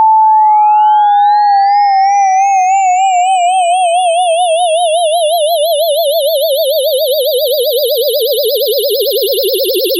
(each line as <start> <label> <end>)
4.0 tone 9.9